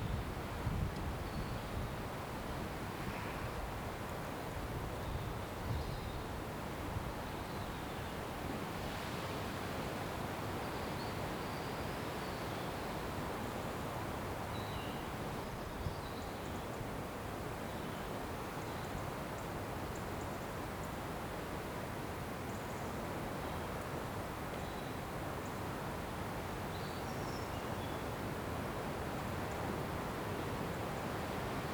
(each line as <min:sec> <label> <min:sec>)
0:00.0 windy day 0:07.4